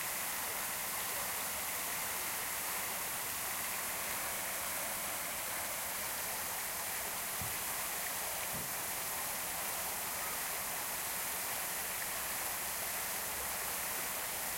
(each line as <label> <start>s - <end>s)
water fountain 0.0s - 14.5s